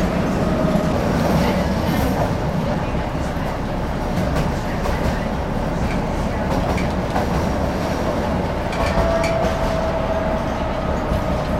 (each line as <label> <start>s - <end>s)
city tram 0.0s - 11.5s
background conversations 0.0s - 9.0s